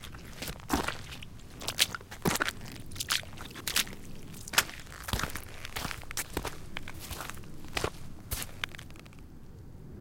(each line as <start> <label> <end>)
0.0 boots water step creaky dirt gravel 9.3